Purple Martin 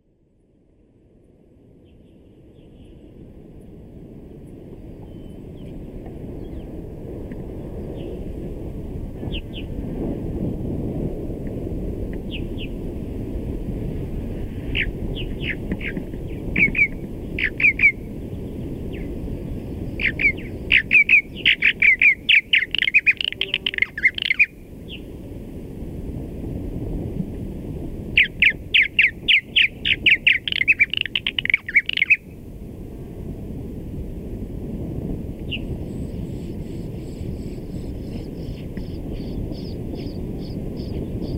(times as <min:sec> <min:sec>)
0:21.5 0:24.5